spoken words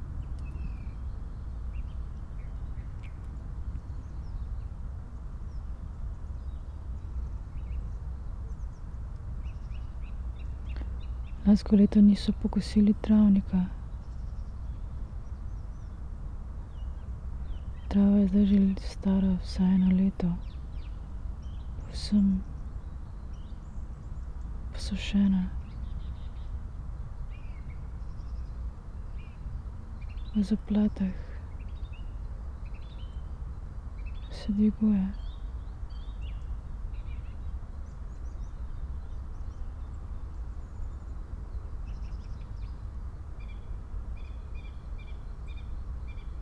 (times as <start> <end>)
11.5 13.8, 17.9 20.4, 21.8 22.4, 24.8 25.6, 30.4 31.4, 34.3 35.2